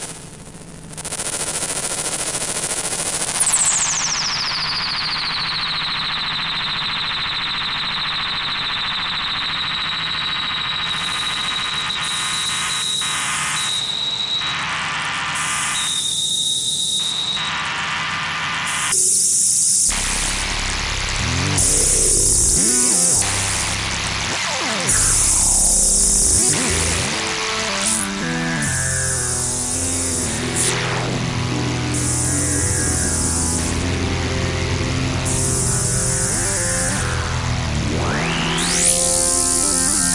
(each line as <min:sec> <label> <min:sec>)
0:19.9 synth 0:40.1